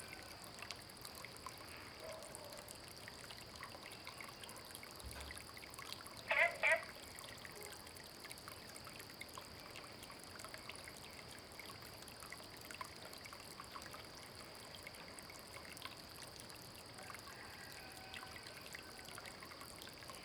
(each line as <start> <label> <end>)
6.2 Frog calls 7.0
6.3 Chicken sounds 6.8